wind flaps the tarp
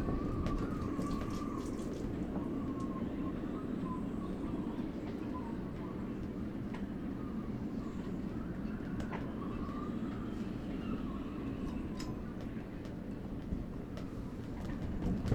0.0 3.3

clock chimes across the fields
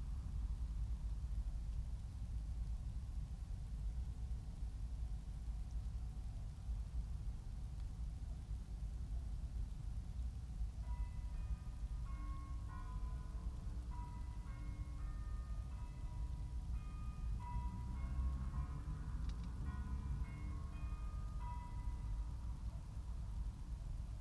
10.8 22.8

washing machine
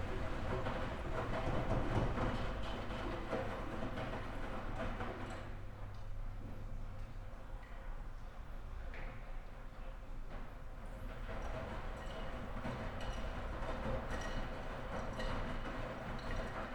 0.0 6.9

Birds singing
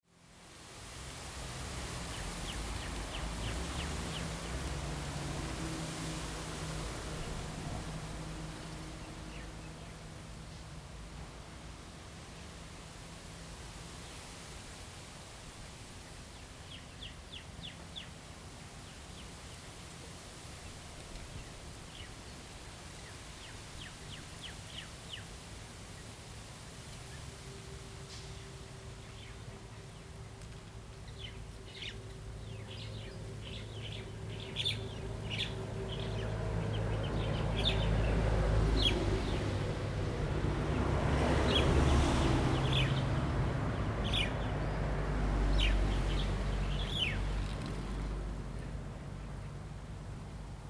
31.0 39.4, 44.0 44.8, 45.4 49.4

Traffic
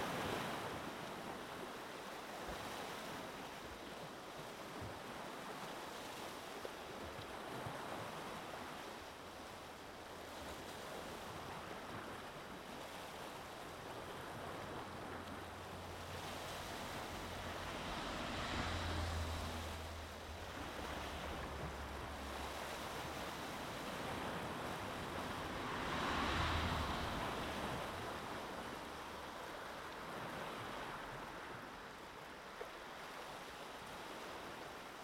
14.2 31.2

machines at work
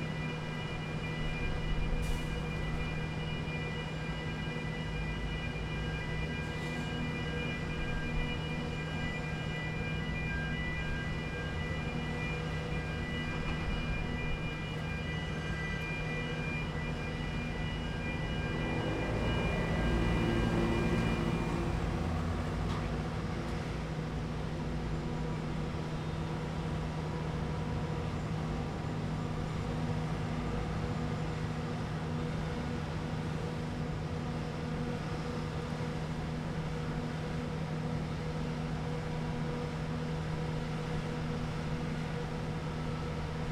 0.1 23.8

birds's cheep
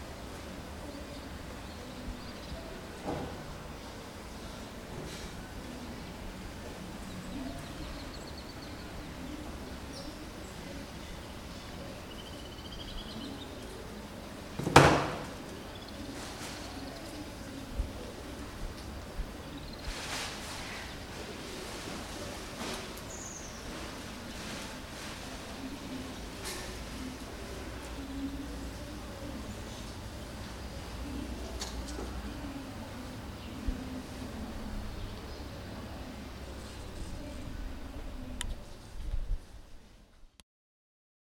7.0 13.9

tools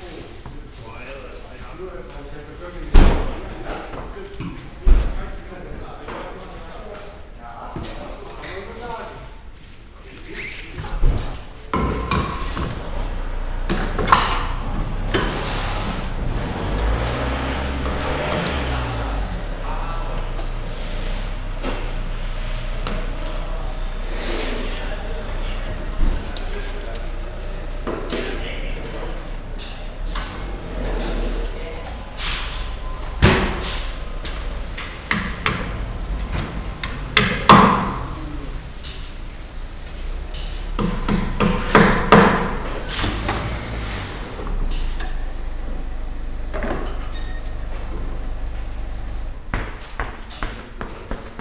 20.4 20.6, 26.4 26.7, 29.6 31.3

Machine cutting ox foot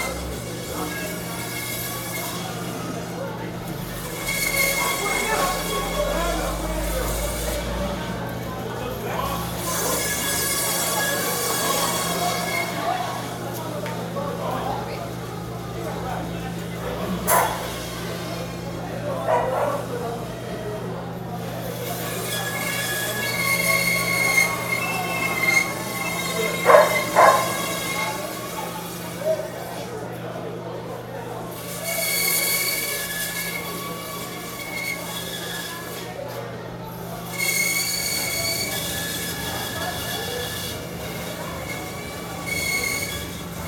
21.7 29.1

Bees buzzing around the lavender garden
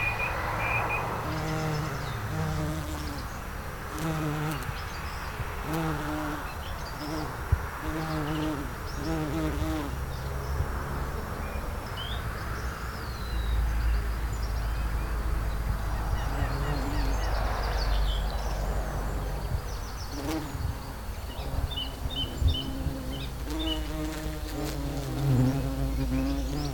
1.1 10.2, 14.8 26.7

